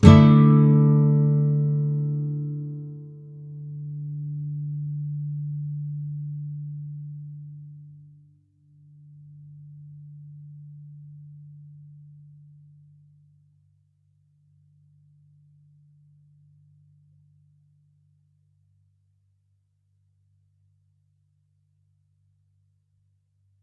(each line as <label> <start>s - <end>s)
nylon guitar 0.0s - 7.8s